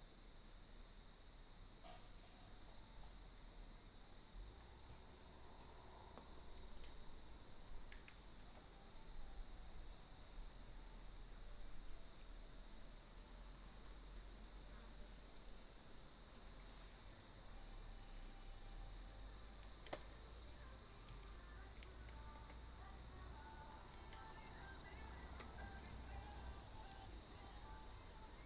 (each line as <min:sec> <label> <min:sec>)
0:00.0 cicadas 0:28.4
0:12.8 Cycling team 0:28.4